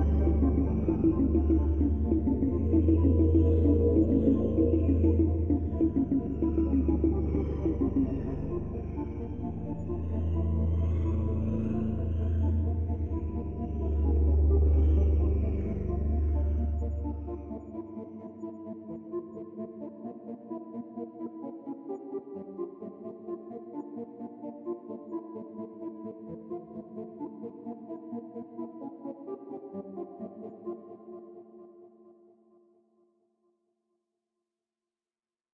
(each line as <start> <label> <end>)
0.0 Minimalist music with tension 32.6